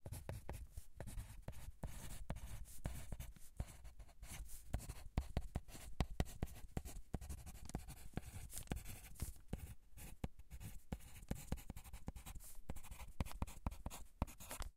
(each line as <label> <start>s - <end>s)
Writing with a pencil 0.0s - 14.7s